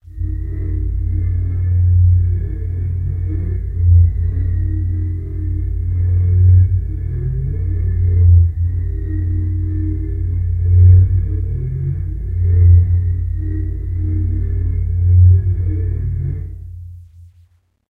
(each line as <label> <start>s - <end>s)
drone moaning stiffs 0.0s - 17.1s